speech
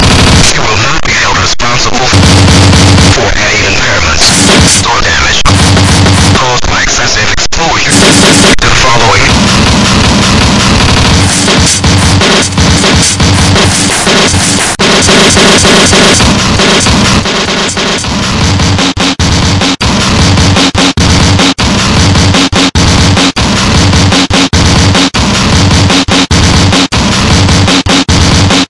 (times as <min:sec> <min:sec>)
0:00.4 0:02.2, 0:03.0 0:05.6, 0:06.3 0:09.4